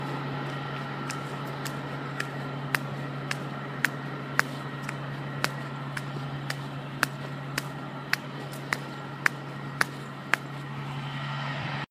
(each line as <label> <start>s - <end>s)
stomping my bare-feet on a slightly gravel covered sidewalk 0.0s - 11.0s
bus in the background 0.0s - 11.9s